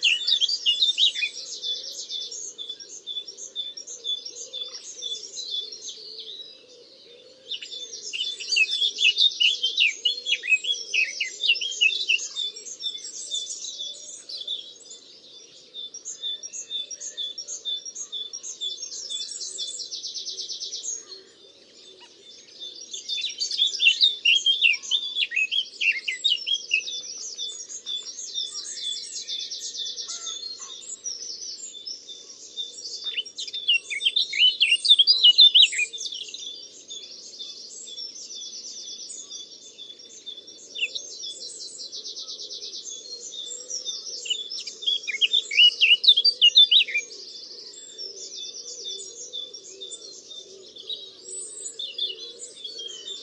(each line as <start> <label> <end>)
0.0 pheasant 14.6
0.0 Nightingale 53.2
0.0 green woodpecker 53.2
15.5 pheasant 53.2
15.8 moorhen 39.7
30.0 Great Tit 36.3
40.4 moorhen 53.2